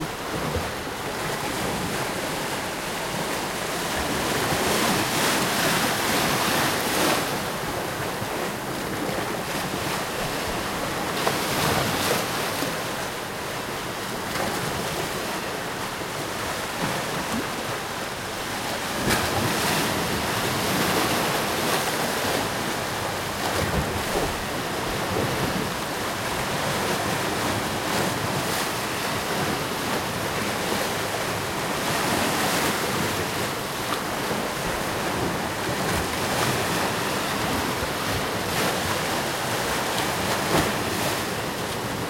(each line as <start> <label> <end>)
0.0 ocean waves wooshing by 42.0